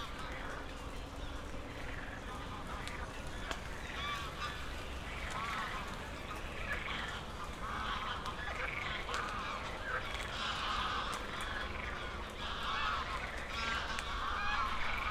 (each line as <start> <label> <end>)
0.0 geese 15.1
1.6 frogs 15.1